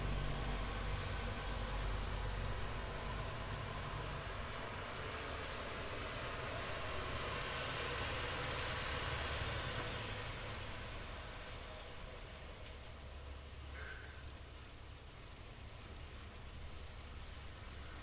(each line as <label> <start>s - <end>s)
Trees blowing in the wind 0.0s - 18.0s
occasional cars going by 0.0s - 18.0s